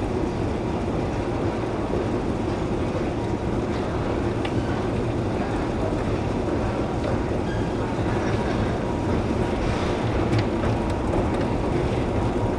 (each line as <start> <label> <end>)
0.0 Subway 12.5